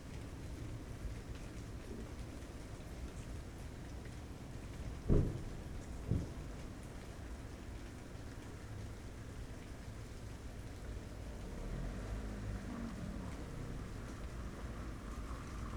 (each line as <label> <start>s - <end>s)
rain 0.0s - 15.7s